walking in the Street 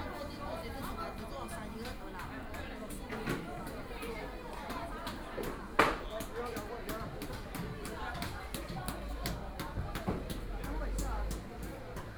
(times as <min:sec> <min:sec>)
0:07.9 0:12.1